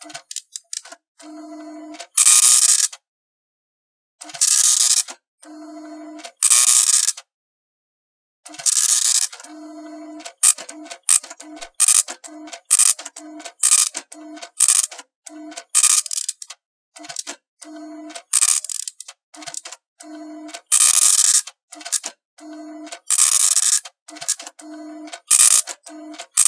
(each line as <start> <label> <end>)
4.2 dot matrix impact printer 7.2
8.5 dot matrix impact printer 16.4
17.0 dot matrix impact printer 26.4
23.0 paper eject 26.4